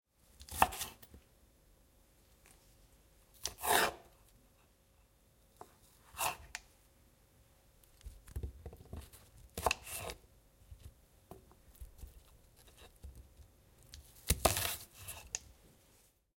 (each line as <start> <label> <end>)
0.4 cutting vegetables (chicory) 1.1
3.4 cutting vegetables (chicory) 4.1
6.1 cutting vegetables (chicory) 6.6
8.0 cutting vegetables (chicory) 10.2
11.7 cutting vegetables (chicory) 15.4